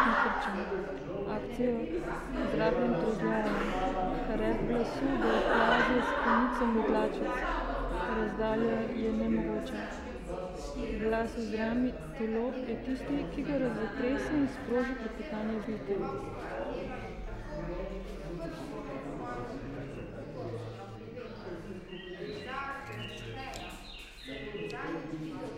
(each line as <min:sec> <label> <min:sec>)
0:00.0 Public reading 0:25.5